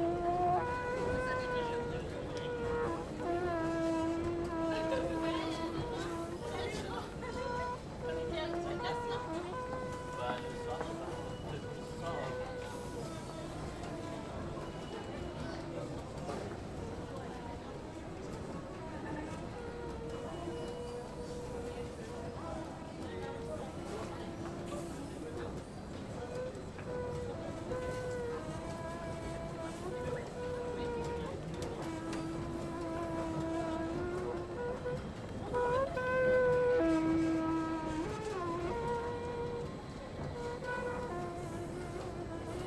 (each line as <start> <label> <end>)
0.1 litanie d'un escalator 42.6